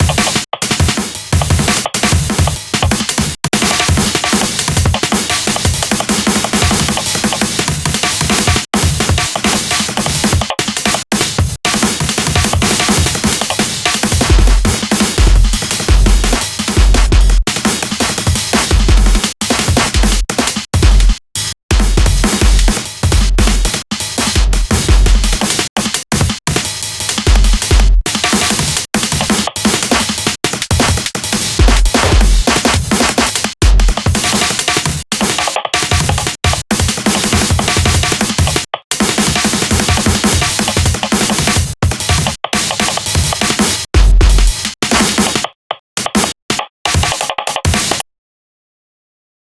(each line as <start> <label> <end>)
0.0 breakbeat 48.0